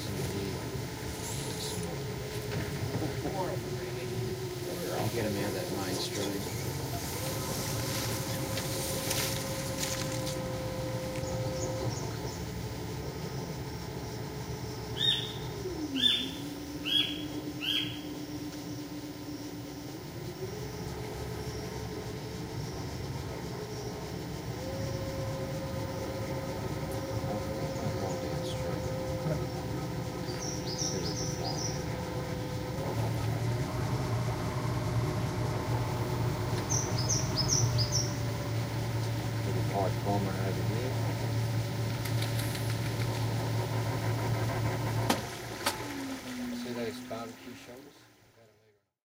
tour guide can be heard explaining 0.0 - 2.1
rainforest (that can be heard scraping on the hull 0.0 - 15.1
boat 0.0 - 48.9
tour guide can be heard explaining 3.0 - 8.2
rainforest (that can be heard scraping on the hull 19.6 - 48.2
tour guide can be heard explaining 27.1 - 31.8
tour guide can be heard explaining 39.4 - 41.4
tour guide can be heard explaining 46.5 - 48.8

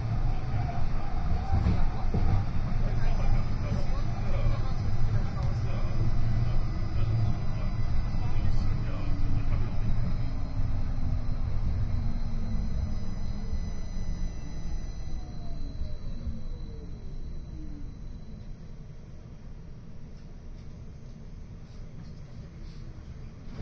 tram 0.0 - 23.6
announcements 0.1 - 13.6
people chatting 0.3 - 10.7

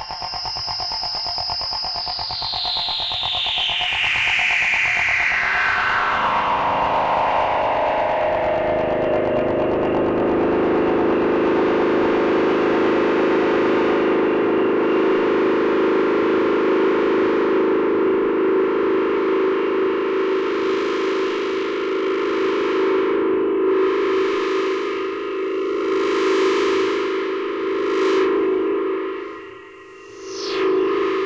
Drone 0.0 - 31.2

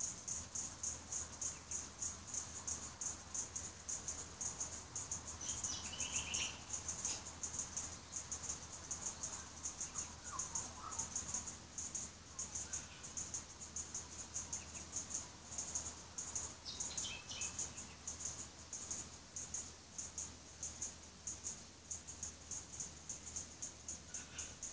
Cicadas click and sing loudly 0.0 - 24.7
fairy wren 0.0 - 24.7
butcher birds 0.3 - 19.6
magpies 9.2 - 11.5

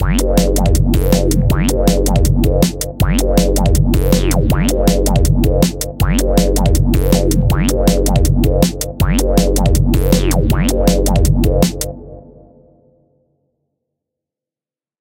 beats 0.0 - 12.0
drum & bass bassline variations 0.0 - 12.0

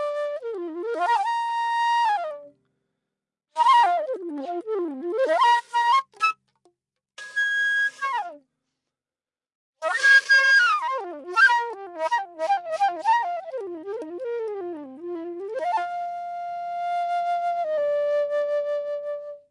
flute playing 0.0 - 2.5
flute playing 3.6 - 6.4
flute playing 9.8 - 19.5

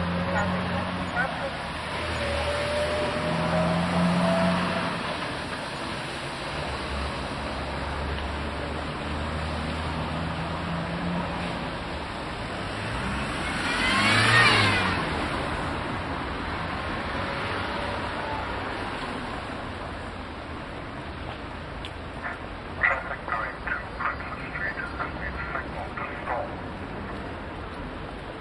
Talking traffic lights/pedestrian crossing 0.0 - 6.2
Talking traffic lights/pedestrian crossing 7.4 - 28.4

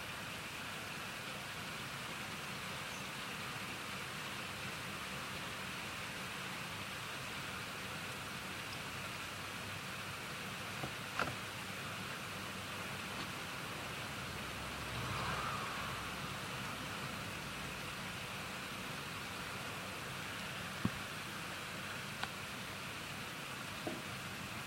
traffic 8.1 - 24.0
car pulling out of drive 13.6 - 18.9

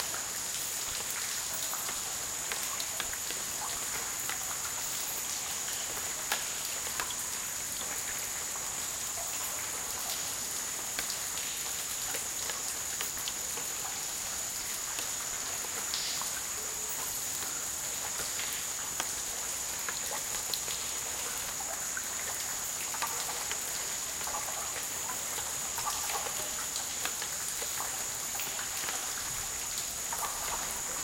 water 0.0 - 31.0

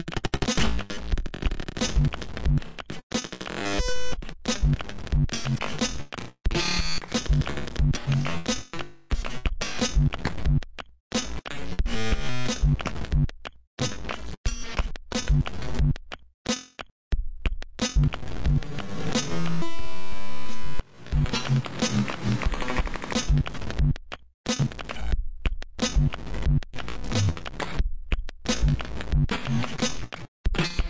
bass 0.0 - 16.1
snare 16.5 - 16.9
bass 17.1 - 30.8
snare 17.8 - 18.2
snare 23.1 - 23.4
snare 28.5 - 30.3

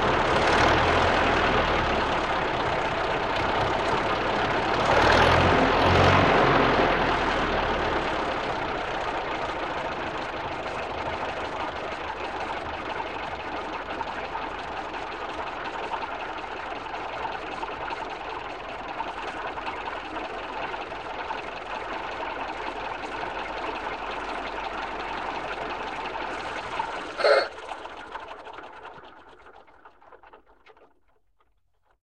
Old Car 0.0 - 32.0

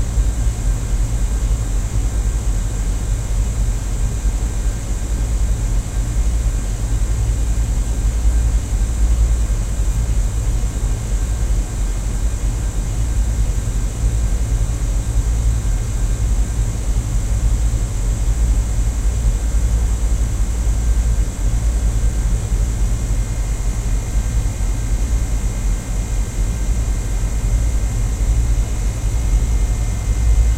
Air conditioner device 0.0 - 30.5

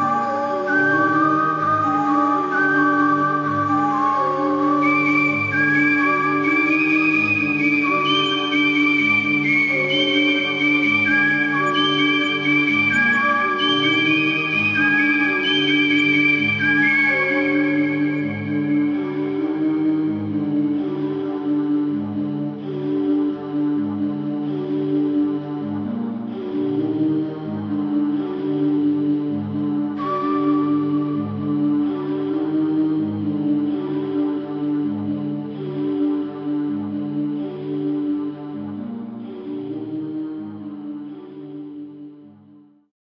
whistle 0.0 - 19.5
whistle 30.0 - 32.2

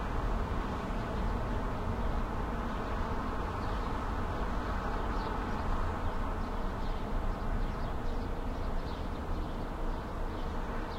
traffic 0.0 - 10.9
birds 2.7 - 10.9

